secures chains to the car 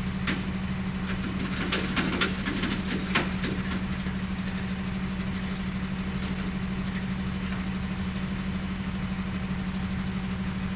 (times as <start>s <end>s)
1.0s 8.4s